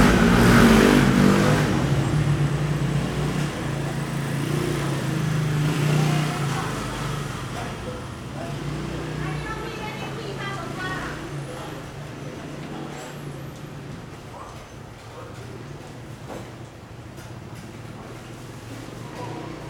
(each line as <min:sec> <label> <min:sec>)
0:00.0 Traffic Sound 0:15.6
0:00.0 walking In the market 0:19.6